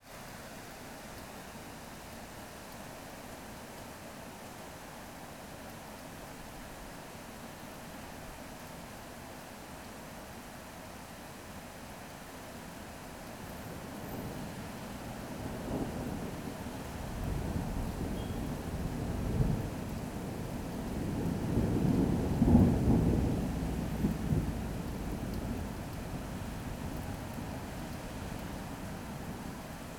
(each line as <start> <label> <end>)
0.1 Heavy Rain 29.9
15.4 rolling thunder 29.5